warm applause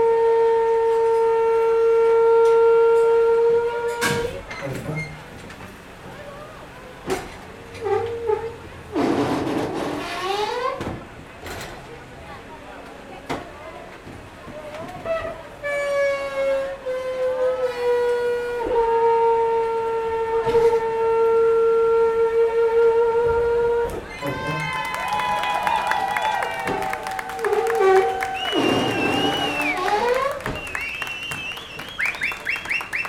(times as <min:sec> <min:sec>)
0:24.2 0:33.0